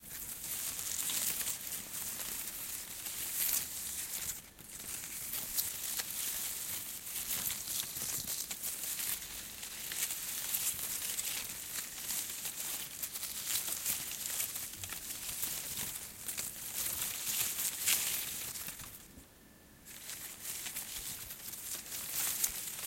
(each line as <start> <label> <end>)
0.0 Moving Soft Plants Leaves 22.8